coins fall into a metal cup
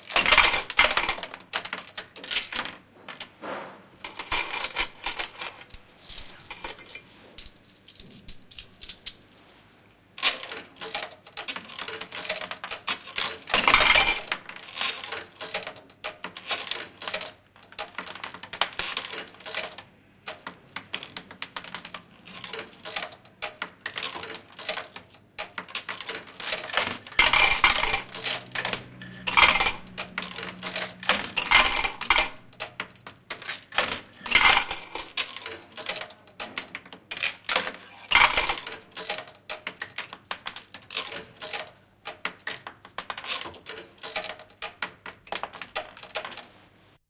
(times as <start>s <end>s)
0.0s 2.8s, 4.0s 9.2s, 10.2s 15.7s, 25.6s 32.9s, 33.7s 36.7s, 37.5s 40.0s